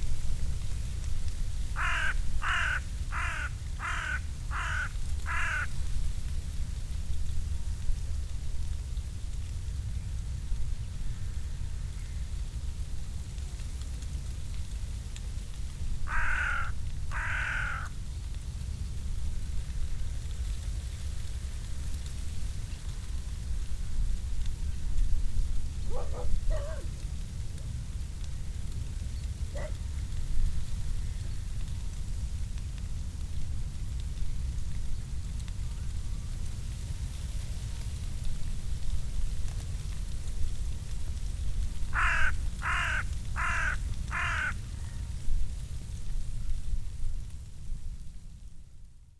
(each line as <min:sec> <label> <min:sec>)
0:00.0 permanent hum of aircrafts 0:48.7